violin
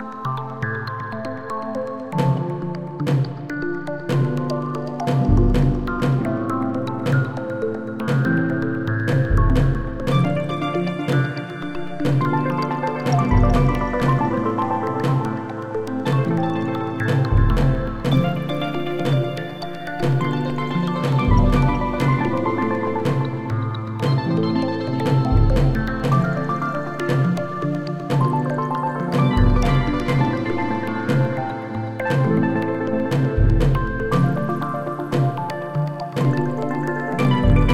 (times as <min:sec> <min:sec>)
0:09.1 0:37.7